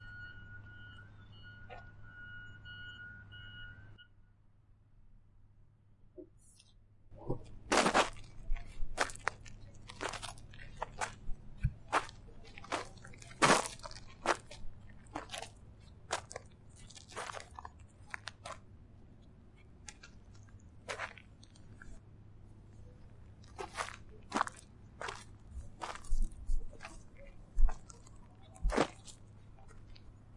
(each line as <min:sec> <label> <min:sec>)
0:07.3 gravel footsteps 0:30.3